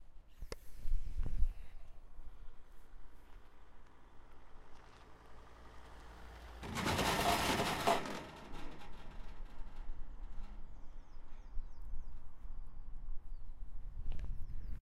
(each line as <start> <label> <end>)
3.4 car driving over a cattle grid 11.4